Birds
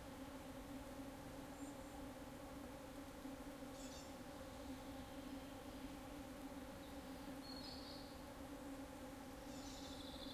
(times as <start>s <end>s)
1.4s 2.2s, 3.6s 10.3s